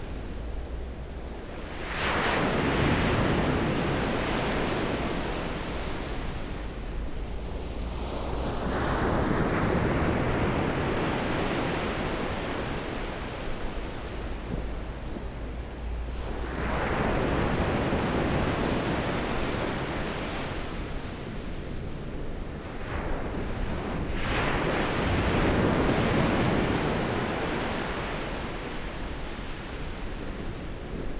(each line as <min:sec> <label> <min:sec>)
0:00.0 waves 0:31.1